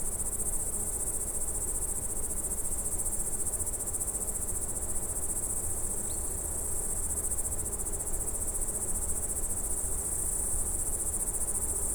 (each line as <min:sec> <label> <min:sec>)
0:00.0 crickets 0:11.9